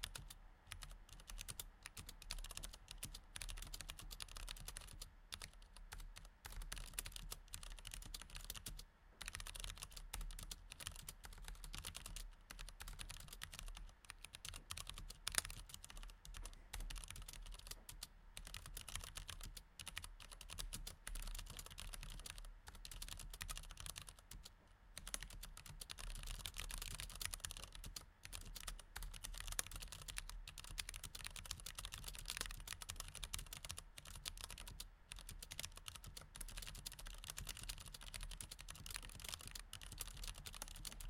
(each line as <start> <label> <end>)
0.0 Mechanical Keyboard Typing 41.0